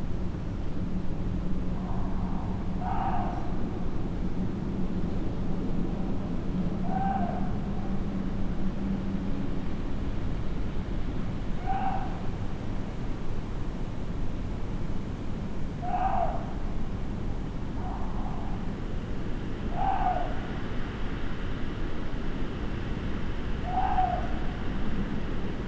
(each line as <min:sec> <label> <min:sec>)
0:00.0 windy night 0:25.6